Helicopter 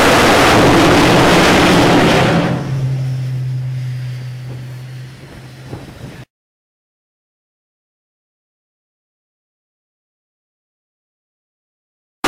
0:00.0 0:06.3

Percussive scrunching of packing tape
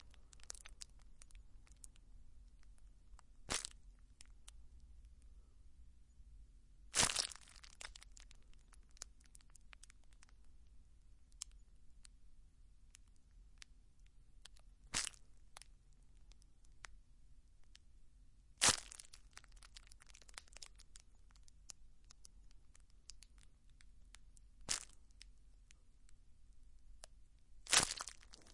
0:03.5 0:03.8, 0:27.7 0:28.5

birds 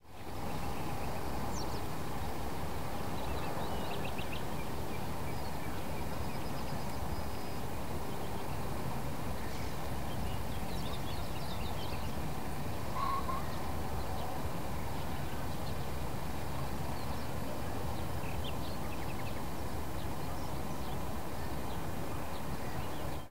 0:12.8 0:23.3

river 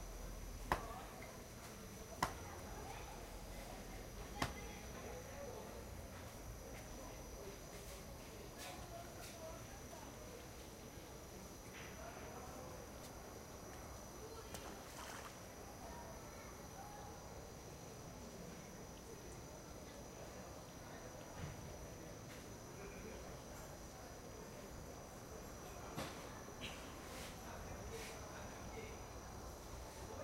0:14.2 0:16.2

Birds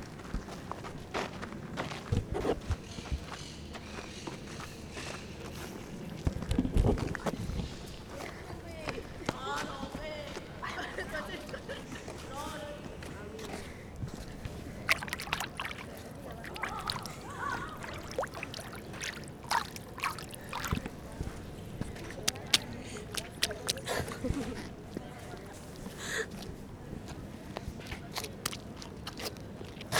0:02.6 0:08.6

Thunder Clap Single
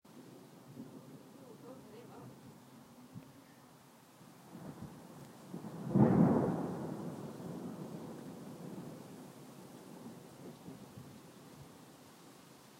0:05.8 0:07.2

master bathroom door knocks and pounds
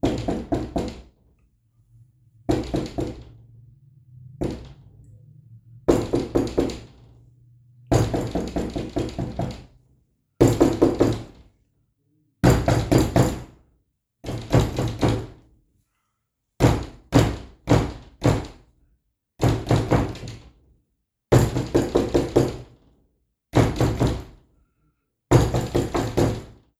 0:00.0 0:01.2, 0:02.5 0:03.4, 0:04.4 0:04.9, 0:05.8 0:07.0, 0:07.9 0:09.8, 0:10.4 0:11.5, 0:12.4 0:13.6, 0:14.2 0:15.4, 0:16.6 0:18.7, 0:19.4 0:20.6, 0:21.3 0:22.8, 0:23.5 0:24.4, 0:25.3 0:26.6

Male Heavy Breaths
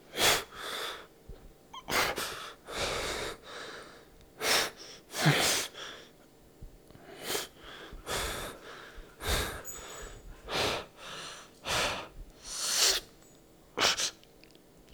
0:07.4 0:12.2

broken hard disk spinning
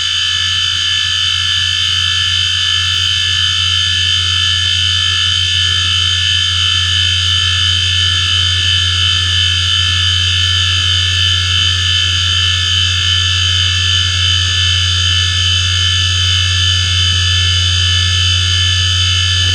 0:05.9 0:19.5

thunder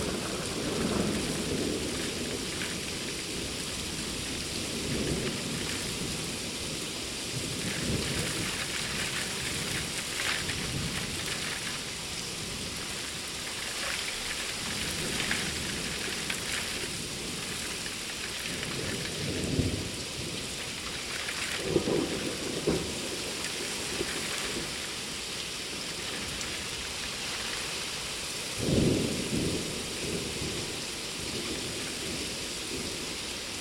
0:00.0 0:06.5, 0:07.3 0:11.8, 0:12.8 0:17.7, 0:18.4 0:20.4, 0:21.2 0:24.9, 0:28.6 0:32.9

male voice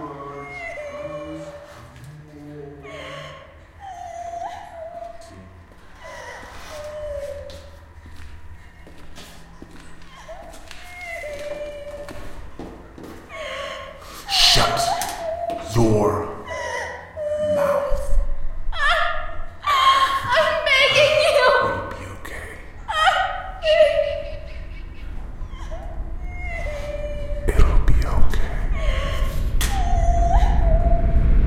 0:14.3 0:16.4, 0:27.5 0:28.7

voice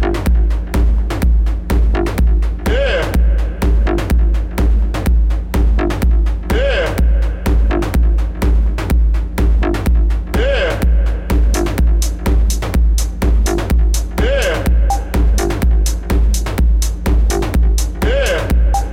0:02.7 0:03.4, 0:06.5 0:07.2, 0:10.4 0:11.0, 0:14.2 0:15.0, 0:18.0 0:18.9

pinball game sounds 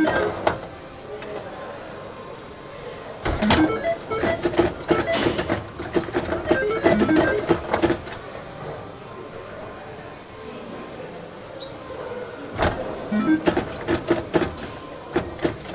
0:00.0 0:00.7, 0:03.3 0:08.3, 0:12.7 0:15.7

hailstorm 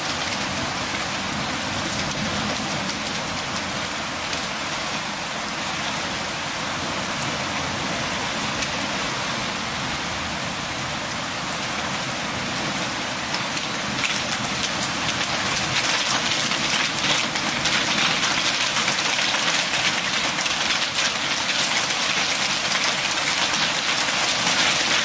0:13.3 0:25.0

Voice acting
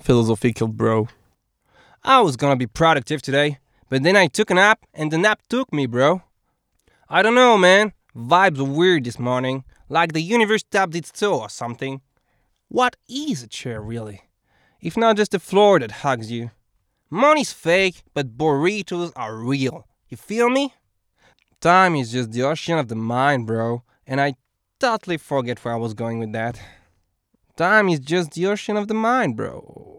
0:00.0 0:01.2, 0:07.1 0:12.0, 0:12.7 0:14.2, 0:17.1 0:20.7, 0:21.6 0:26.8, 0:27.6 0:29.9

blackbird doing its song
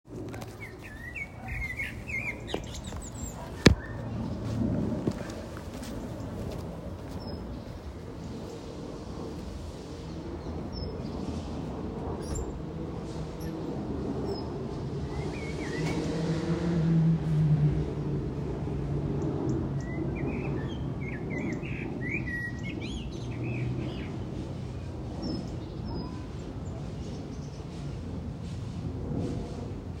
0:00.3 0:04.4, 0:19.8 0:24.2

